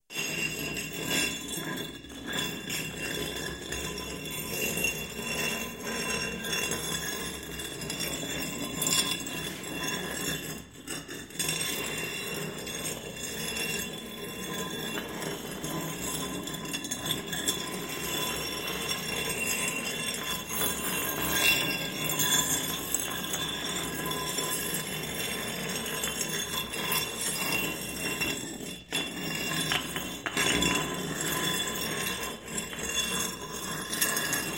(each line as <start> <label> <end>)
8.7 stone sliding 34.5